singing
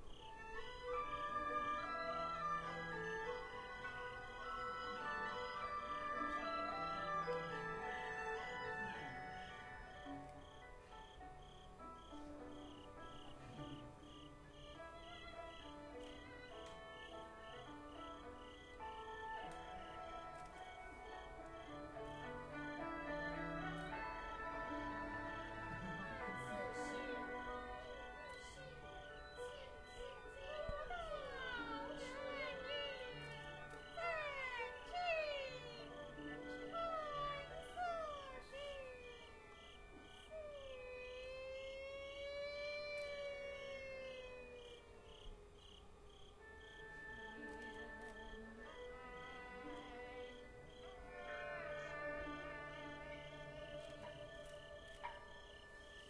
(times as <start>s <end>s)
13.3s 45.3s, 46.5s 56.0s